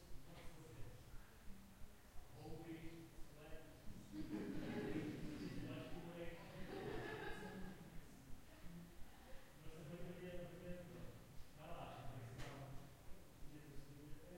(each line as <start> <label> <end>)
0.0 people chatting in another room 14.3